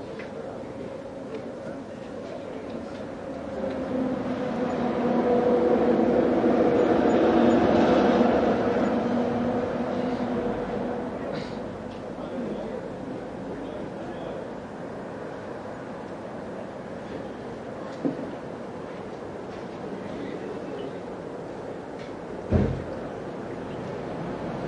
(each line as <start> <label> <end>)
0.0 traffic 24.6
3.4 truck 12.4